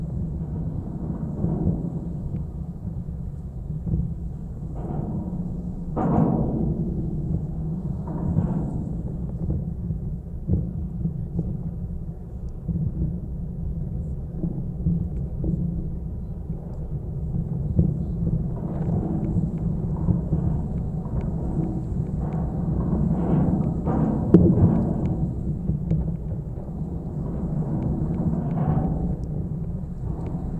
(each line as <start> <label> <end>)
17.8 suspender 30.5